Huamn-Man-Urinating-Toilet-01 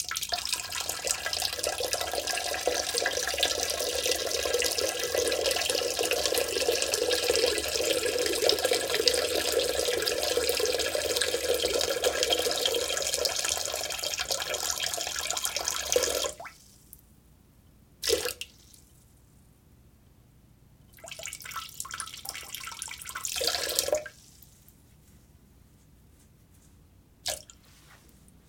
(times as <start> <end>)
0.0 16.6, 18.0 18.6, 21.0 24.2